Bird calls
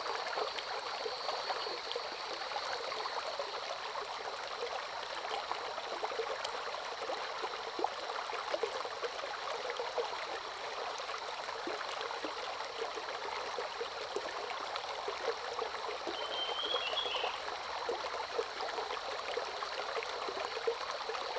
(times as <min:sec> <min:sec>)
0:16.2 0:17.4